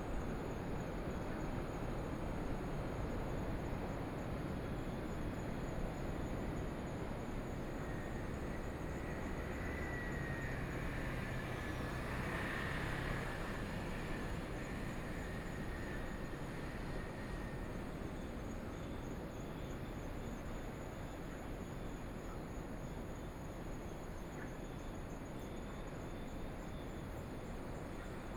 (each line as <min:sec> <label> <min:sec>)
0:07.0 train traveling through 0:18.4
0:07.9 Traffic Sound 0:18.0